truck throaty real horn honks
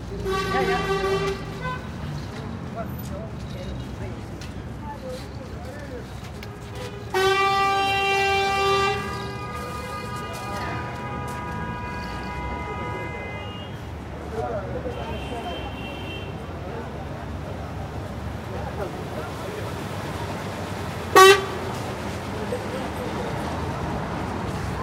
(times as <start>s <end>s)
0.2s 1.8s, 7.1s 13.8s, 21.1s 21.8s